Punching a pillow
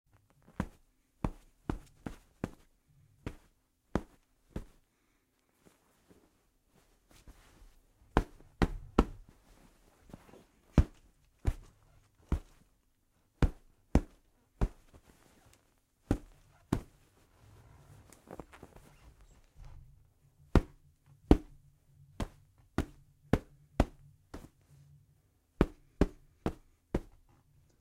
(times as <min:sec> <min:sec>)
0:00.4 0:04.8, 0:08.1 0:09.4, 0:10.1 0:12.7, 0:13.3 0:15.4, 0:16.0 0:17.1, 0:20.4 0:24.7, 0:25.5 0:27.3